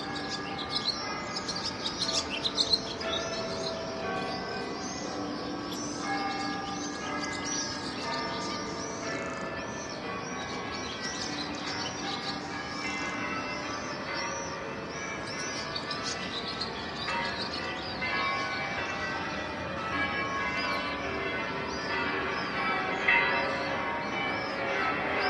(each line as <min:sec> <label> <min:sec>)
0:00.0 distant church bells 0:25.2